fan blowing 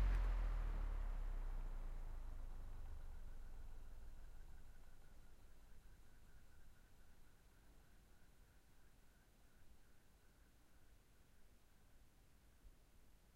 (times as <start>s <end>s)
0.0s 1.4s